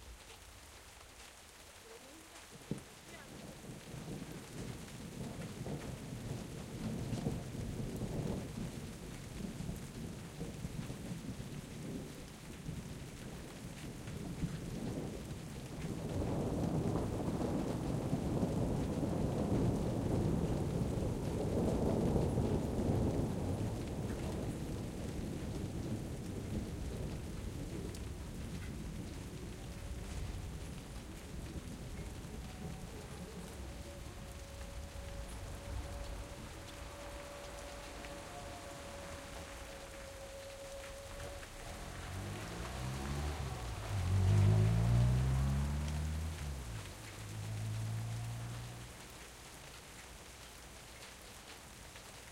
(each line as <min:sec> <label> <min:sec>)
0:00.0 light rain 0:52.3
0:01.7 thunder rolling through mountains 0:51.0
0:01.8 woman talks in the distance 0:03.5
0:32.0 a car is passing 0:49.8